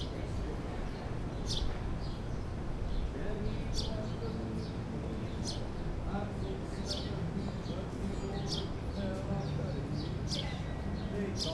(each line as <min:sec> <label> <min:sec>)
0:00.0 birdsong 0:11.5
0:03.1 guitar 0:11.5